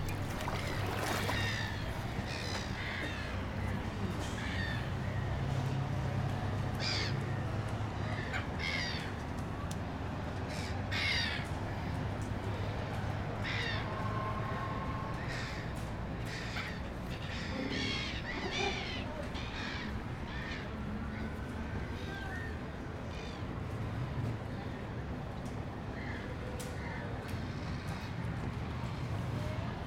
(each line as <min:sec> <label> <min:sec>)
0:00.0 SEA LIONS 0:05.5
0:00.0 BIRDS 0:05.8
0:00.0 BOAT 0:29.8
0:00.0 WET TRAFFIC FAR 0:29.8
0:13.3 SEA LIONS 0:23.7